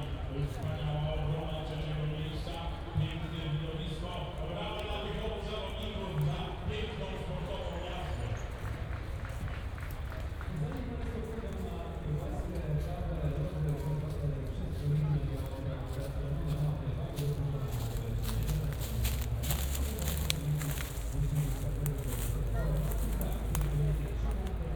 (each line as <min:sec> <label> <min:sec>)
0:00.1 announcer summarizes the race 0:08.8
0:17.2 roar of the engines 0:24.7